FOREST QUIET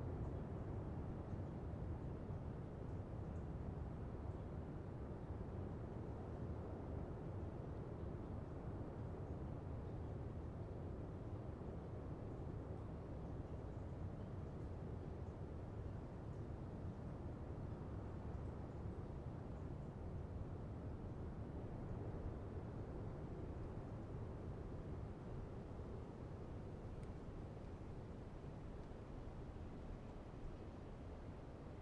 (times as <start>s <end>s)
24.0s 31.8s